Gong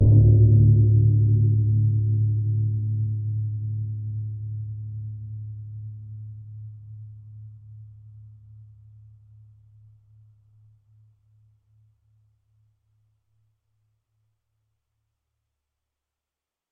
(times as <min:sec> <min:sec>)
0:00.0 0:06.7